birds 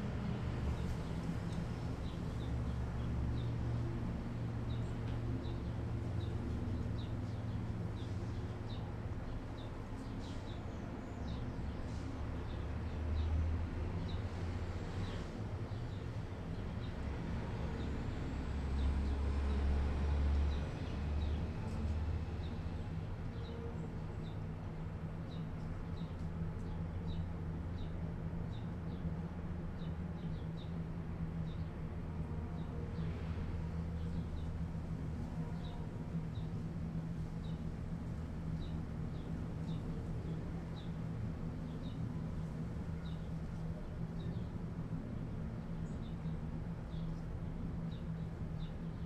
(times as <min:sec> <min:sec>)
0:37.2 0:49.0